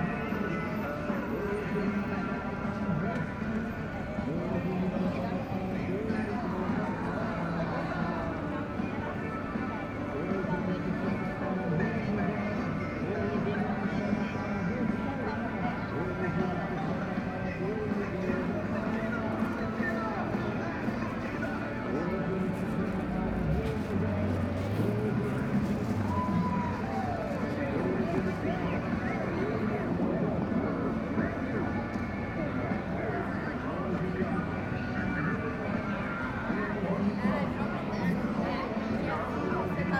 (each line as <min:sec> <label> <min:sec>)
0:00.0 religious preaching 0:39.9